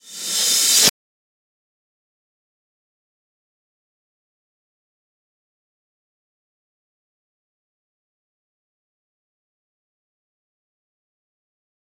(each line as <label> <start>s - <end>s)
Reverse Cymbal 0.0s - 0.9s